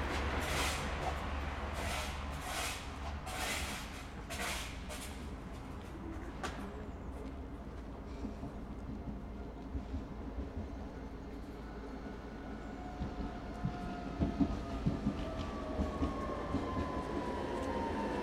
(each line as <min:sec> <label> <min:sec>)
0:00.0 straszenbahn 0:18.2